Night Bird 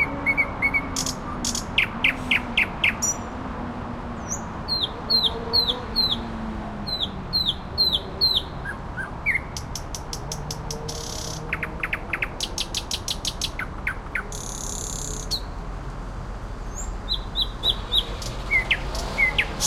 0:16.7 0:19.6

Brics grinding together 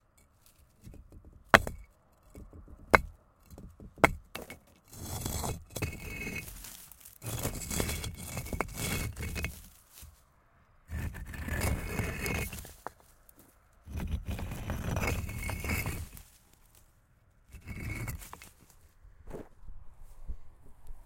0:00.8 0:09.7

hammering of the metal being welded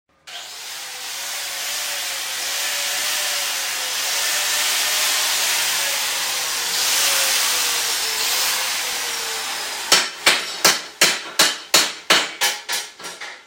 0:09.9 0:13.4

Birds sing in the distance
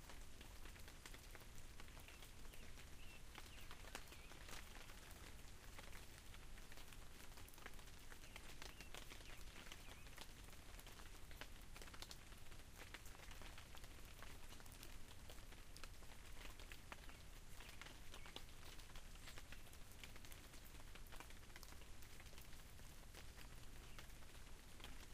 0:01.8 0:05.4, 0:07.7 0:10.5, 0:16.6 0:20.4, 0:23.3 0:25.1

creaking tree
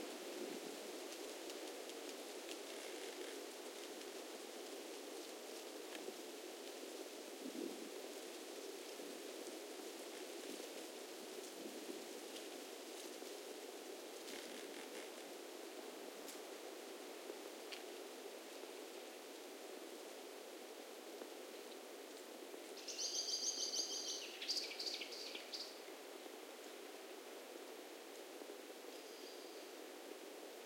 0:02.0 0:04.0, 0:14.2 0:15.2

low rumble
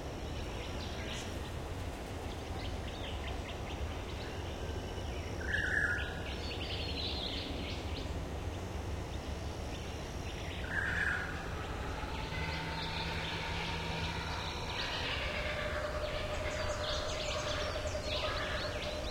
0:10.7 0:19.1

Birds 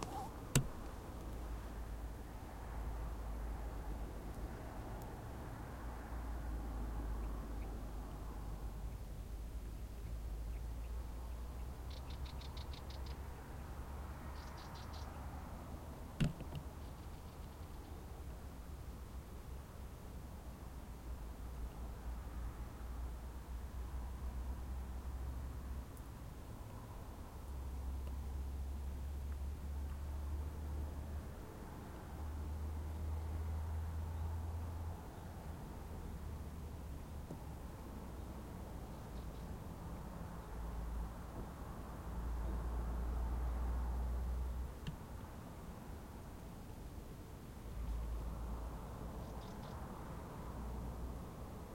0:00.0 0:01.7, 0:08.8 0:15.6, 0:16.2 0:18.2, 0:38.1 0:39.7, 0:49.1 0:50.0

